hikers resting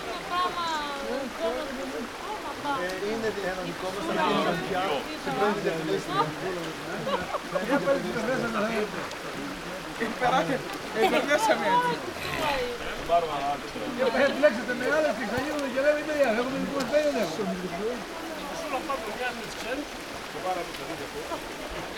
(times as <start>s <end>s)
10.7s 15.7s